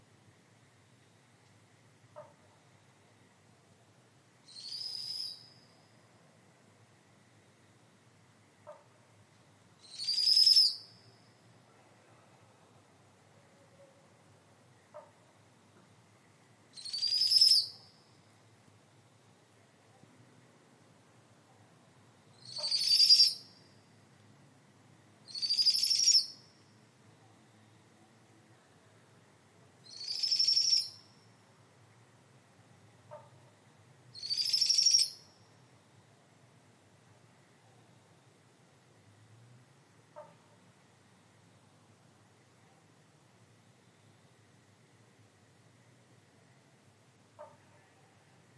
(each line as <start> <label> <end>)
4.5 powerful owl whistle 5.6
9.8 powerful owl whistle 10.9
16.8 powerful owl whistle 17.8
22.4 powerful owl whistle 23.5
22.4 frog calls 23.6
25.3 powerful owl whistle 26.4
25.3 frog calls 26.4
29.8 powerful owl whistle 31.1
29.9 frog calls 31.1
34.2 powerful owl whistle 35.3
34.2 frog calls 35.4
40.2 frog calls 40.5
47.4 frog calls 47.9